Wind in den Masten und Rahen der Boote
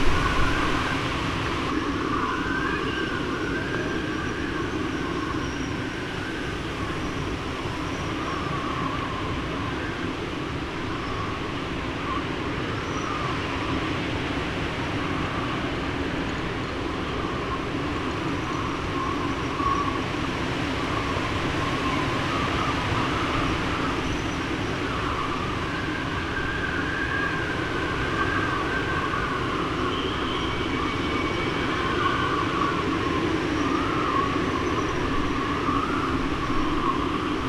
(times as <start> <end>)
0.0 29.9